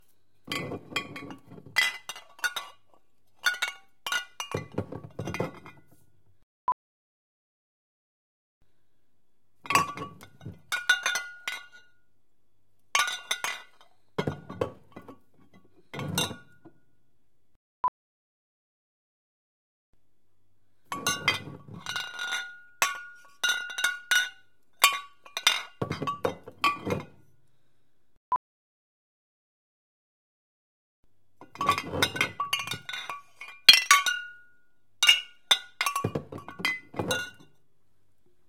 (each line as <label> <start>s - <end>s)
Glass Spirit bottles clanking 0.5s - 5.8s
Glass Spirit bottles clanking 9.7s - 11.8s
Glass Spirit bottles clanking 13.0s - 16.7s
Glass Spirit bottles clanking 20.9s - 27.2s
Glass Spirit bottles clanking 31.4s - 34.4s
Glass Spirit bottles clanking 35.0s - 37.5s